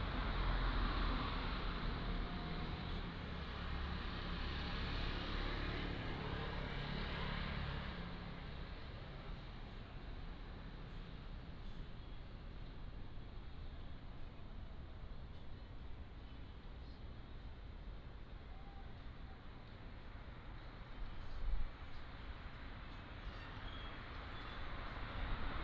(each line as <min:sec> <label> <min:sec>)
0:00.0 Traffic sound 0:25.6